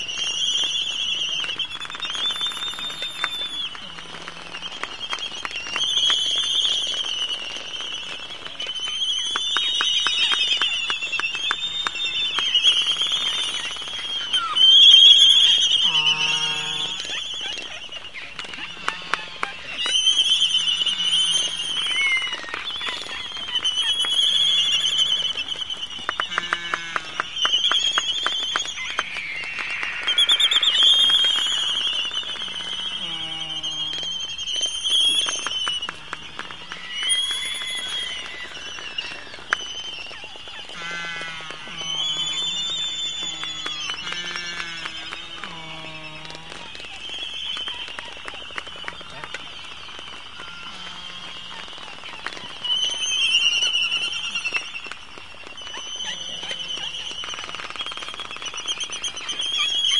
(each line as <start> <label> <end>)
28.6 Laysan Albatross (Gooney Bird) sounds 59.9